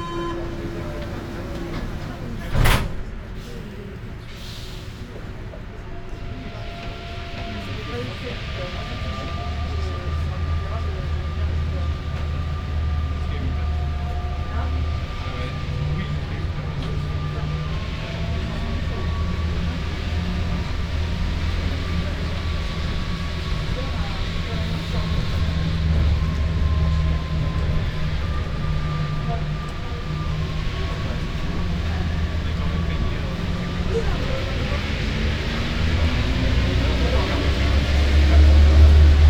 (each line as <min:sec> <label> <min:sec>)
0:00.0 riding the metro 0:39.2